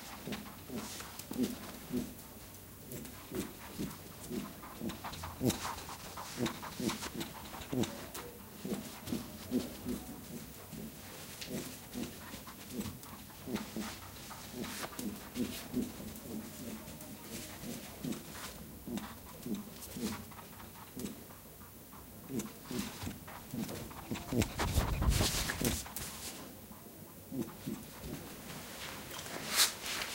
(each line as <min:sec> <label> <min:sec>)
0:00.0 pet rabbit runs in circles around the mics 0:30.1